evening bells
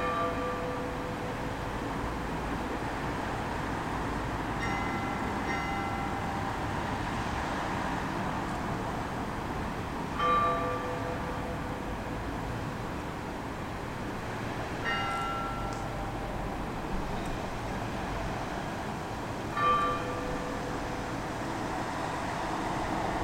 4.6 6.8, 14.8 17.6

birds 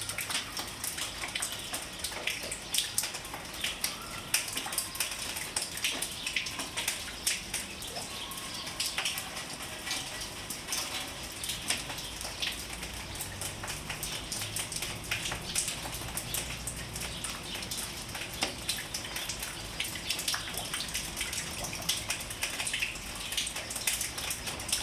1.0 9.3

